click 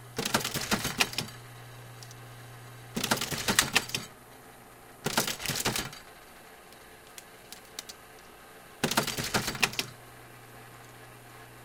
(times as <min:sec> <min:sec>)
0:06.7 0:08.3